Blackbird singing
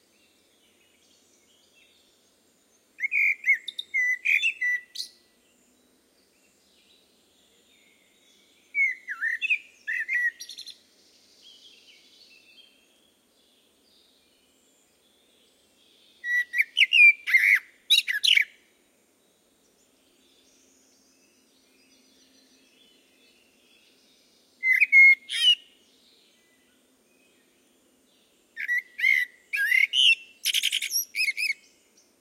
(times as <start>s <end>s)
3.0s 5.2s, 7.8s 10.8s, 15.9s 18.6s, 20.1s 27.6s, 28.6s 32.0s